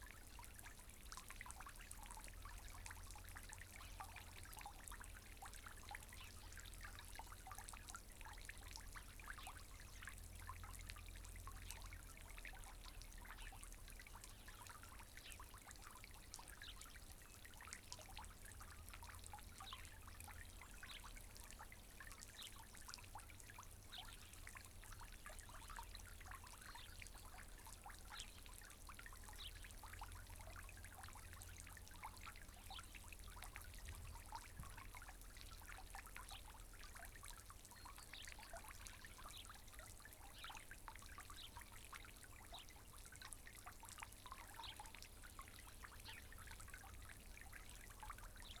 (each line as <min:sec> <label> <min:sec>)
0:00.0 fountain 0:48.6